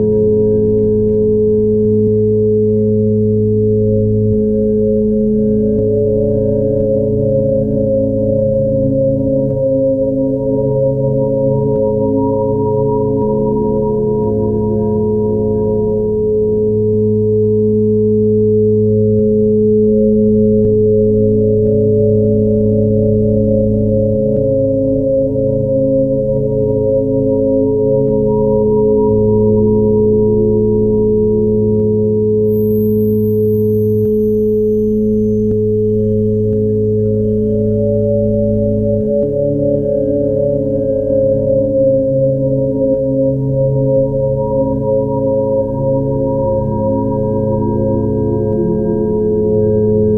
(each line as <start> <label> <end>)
0.0 drone 50.1